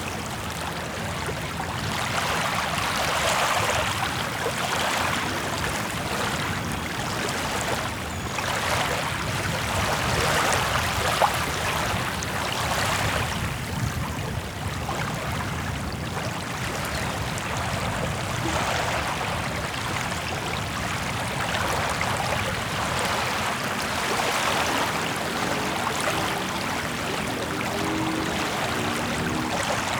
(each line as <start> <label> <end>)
0.0 Waves 29.9